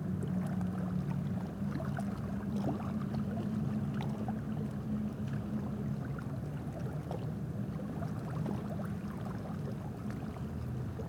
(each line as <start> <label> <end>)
0.0 River 11.0